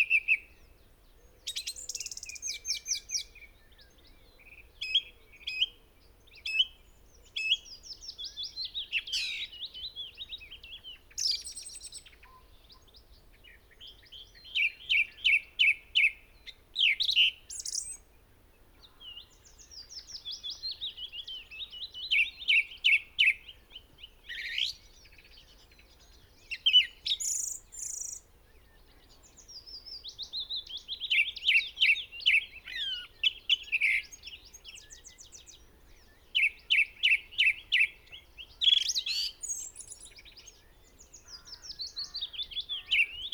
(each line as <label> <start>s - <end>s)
blackbird 0.0s - 43.3s
pheasant 0.0s - 43.3s
song thrush song 0.0s - 43.3s
willow warbler 0.0s - 43.3s
crow 41.2s - 43.3s